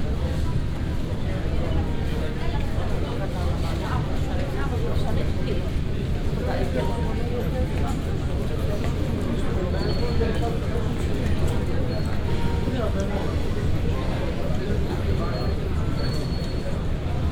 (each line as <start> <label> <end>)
0.0 travelers waiting for their bags and heading towards the exit 17.3